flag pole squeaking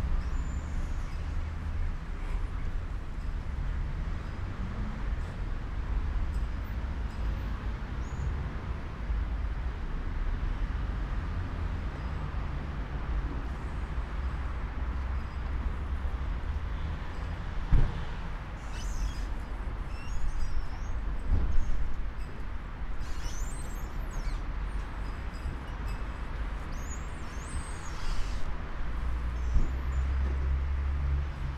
18.6 20.8, 23.0 24.4, 27.6 28.5

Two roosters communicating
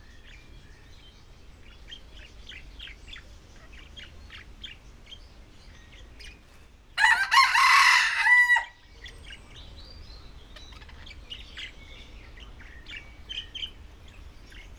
7.0 14.7

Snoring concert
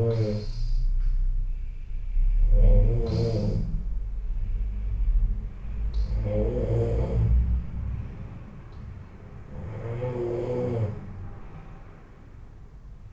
0.0 0.9, 2.1 7.7, 9.4 11.5

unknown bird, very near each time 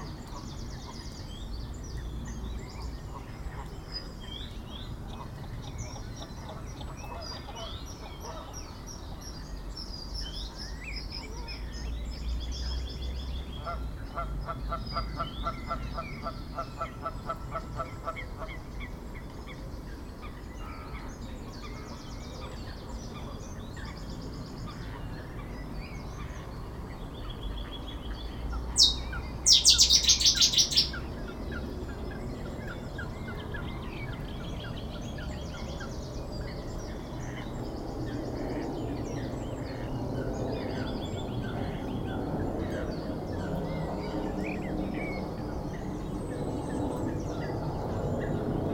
28.8 31.0

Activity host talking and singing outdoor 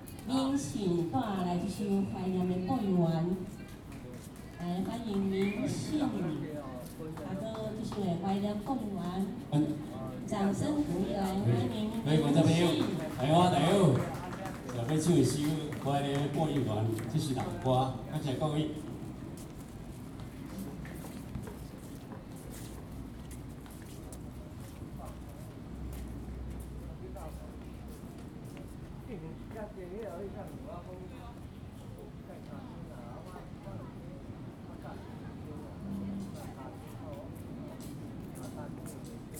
0.0 23.4

